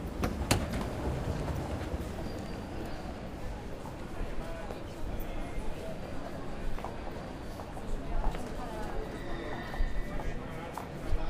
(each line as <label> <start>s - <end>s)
mechanic stairs 0.0s - 2.9s
train arriving 0.0s - 11.2s
people entering the train 0.0s - 11.2s
people walking 0.0s - 11.2s